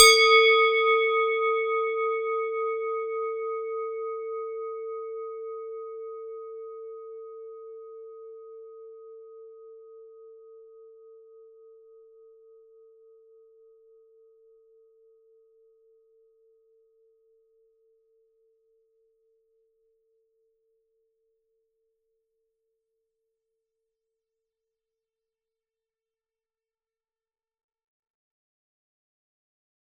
0.0s Swiss cowbell 4.4s

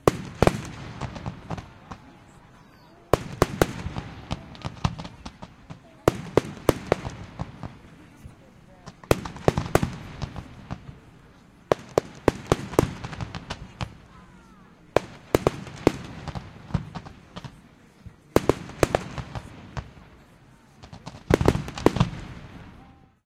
0.0s Blasts 8.2s
0.0s crowd reactions 18.2s
8.8s Blasts 17.6s
18.4s Blasts 23.0s

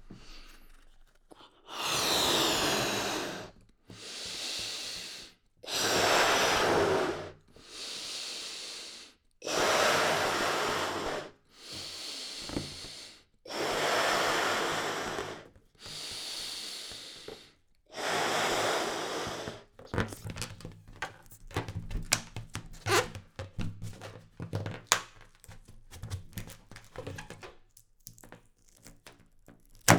1.7s Inflating balloon 24.2s
19.8s tying knot 29.9s

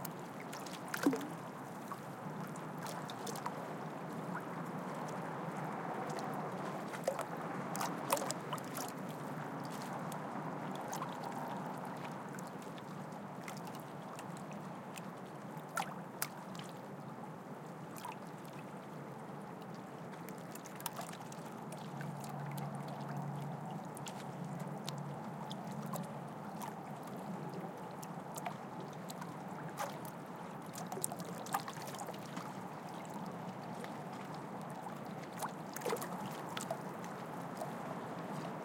0.0s Light waves hitting the harbour wall 38.6s
0.0s harbour and city noise in the background 38.6s

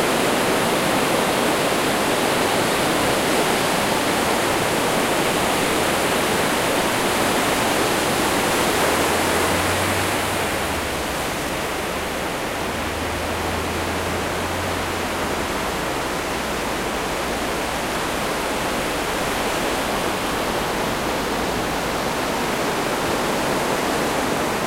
0.0s Sea shore 24.6s

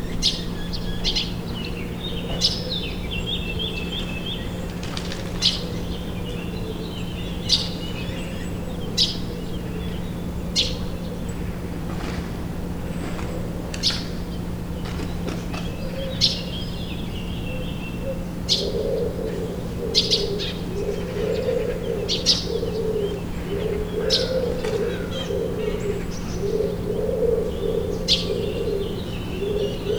0.0s birds 29.9s

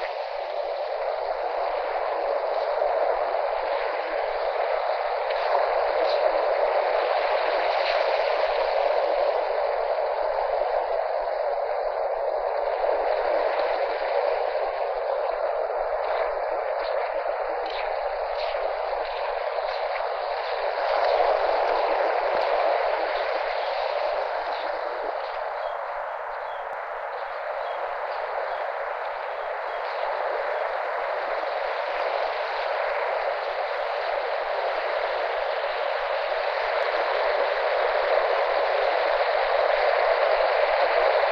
0.0s waves 41.3s
23.9s seagulls 30.9s

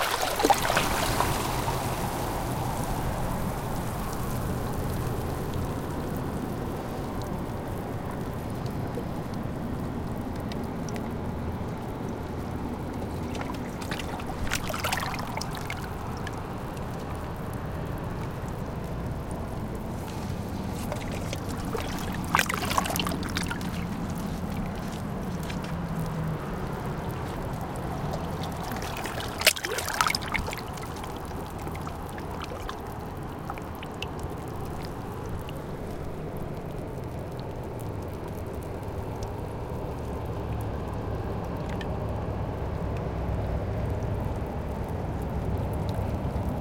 0.0s barnacles 4.8s
0.0s Waves 46.6s
0.0s tide pool 46.6s
6.6s barnacles 36.6s

